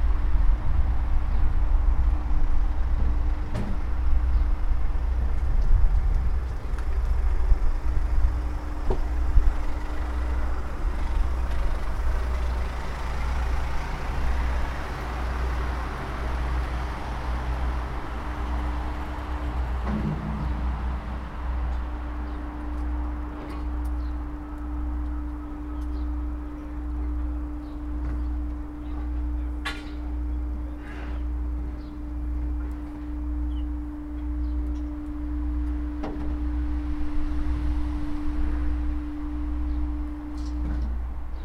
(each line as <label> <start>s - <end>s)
recycling 0.0s - 41.4s